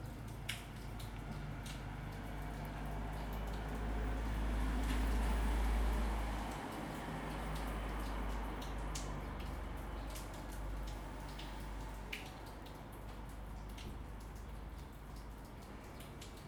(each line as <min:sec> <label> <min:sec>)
0:00.0 Rain 0:16.4